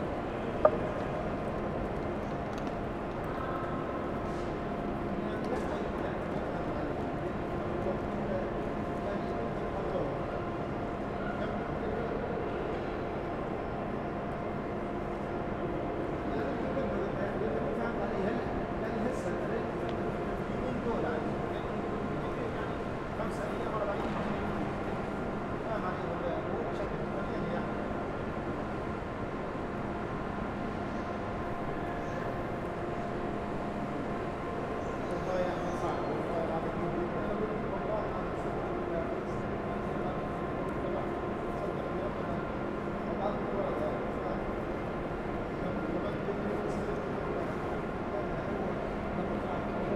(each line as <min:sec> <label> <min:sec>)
0:00.0 people are crossing the great hall 0:49.9